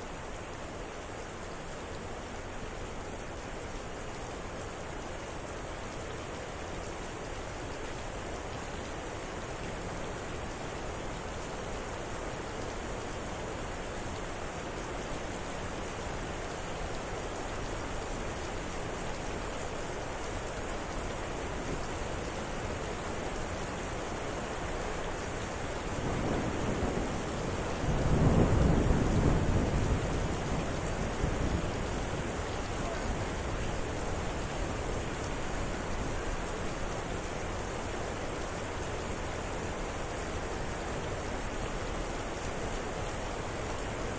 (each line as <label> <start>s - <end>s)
quickly increasing rain 0.0s - 44.1s
extraordinarily loud cracks of lightning and booming thunder 26.0s - 32.4s